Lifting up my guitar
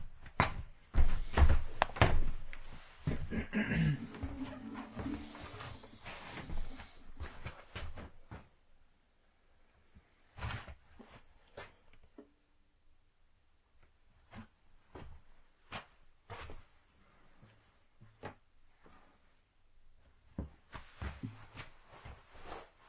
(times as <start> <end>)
3.7 6.3